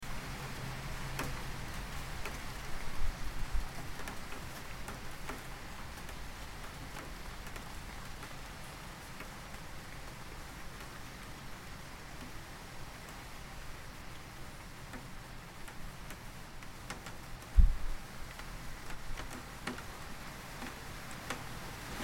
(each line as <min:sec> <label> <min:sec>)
0:15.7 drops hit the window lightly 0:19.9